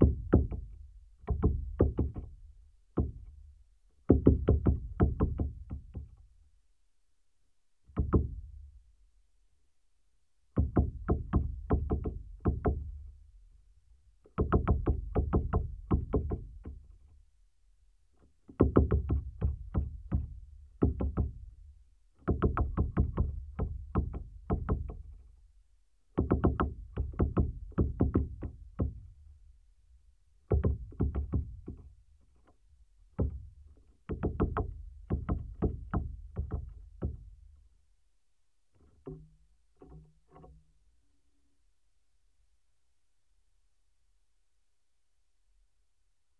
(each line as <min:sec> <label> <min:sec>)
0:00.0 woodpecker work session 0:06.5
0:10.5 woodpecker work session 0:17.4
0:18.0 woodpecker work session 0:37.8
0:38.6 woodpecker work session 0:41.0